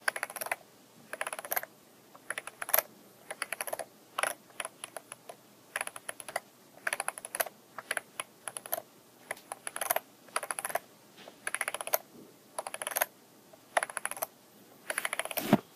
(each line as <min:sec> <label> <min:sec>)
0:00.0 scrollwheel on an old mouse 0:10.8
0:11.4 scrollwheel on an old mouse 0:12.0
0:12.6 scrollwheel on an old mouse 0:13.1
0:13.7 scrollwheel on an old mouse 0:15.4